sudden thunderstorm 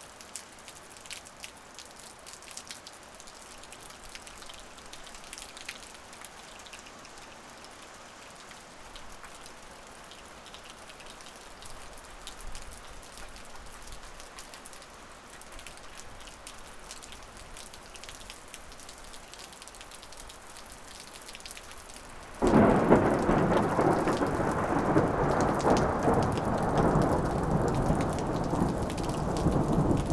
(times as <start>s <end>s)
22.2s 30.1s